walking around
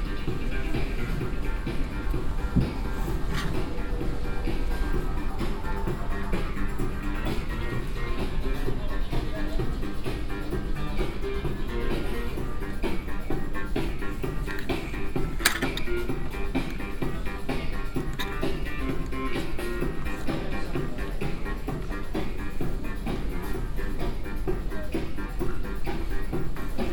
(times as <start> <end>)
0.3 5.7